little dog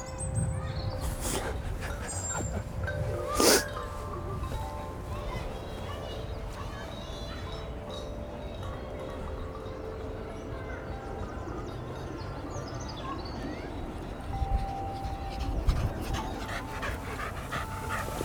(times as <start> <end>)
1.0 6.7, 14.4 18.2